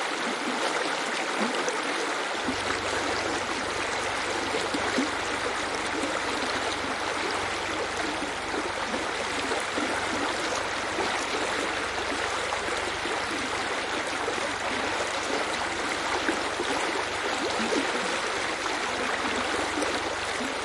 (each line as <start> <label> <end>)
0.0 Water stream 20.6